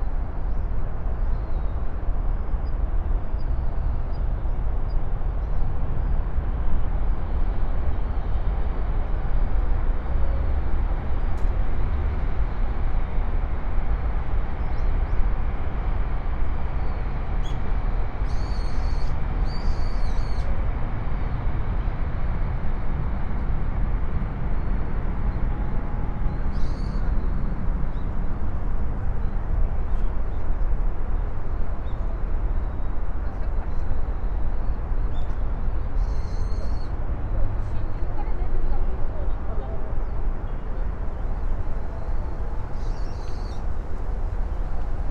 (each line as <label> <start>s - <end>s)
birds 42.0s - 45.0s